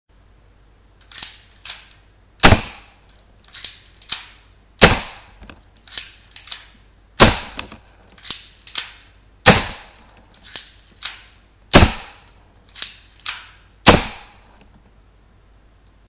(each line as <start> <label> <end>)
2.4 gun sound 3.0
4.2 gun sound 5.4
7.2 gun sound 7.8
8.8 gun sound 10.0
11.7 gun sound 12.3
13.3 gun sound 14.5